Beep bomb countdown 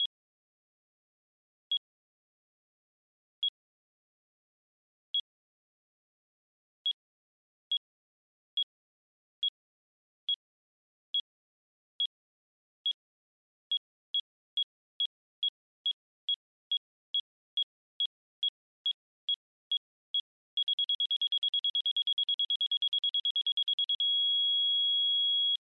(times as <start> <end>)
20.6 25.6